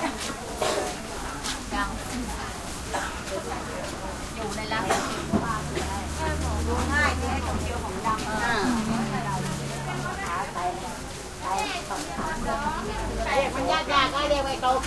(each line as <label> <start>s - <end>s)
voices 0.0s - 14.8s
passing motorcycles 4.4s - 11.3s